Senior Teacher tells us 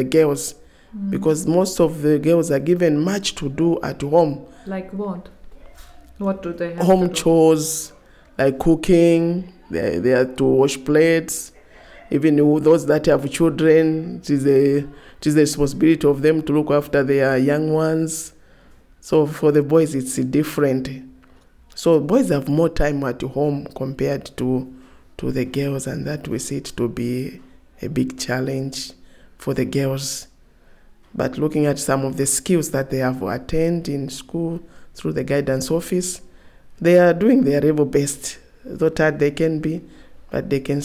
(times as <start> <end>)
0.0 18.3